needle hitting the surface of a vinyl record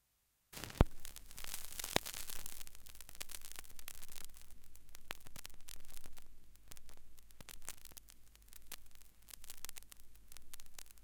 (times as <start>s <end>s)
0.6s 3.6s